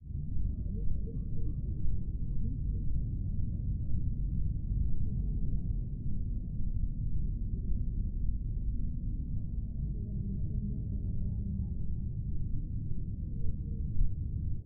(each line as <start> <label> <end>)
0.0 rumble 14.6
9.8 people talking 11.8